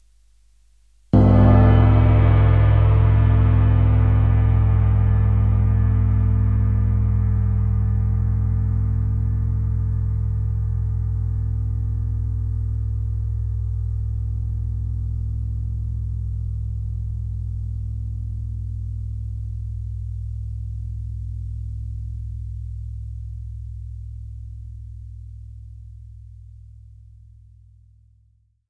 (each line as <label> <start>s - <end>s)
cymbal 1.2s - 25.8s